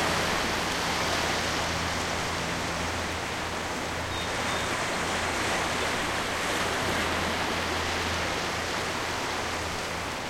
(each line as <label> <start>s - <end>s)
waves 0.0s - 10.2s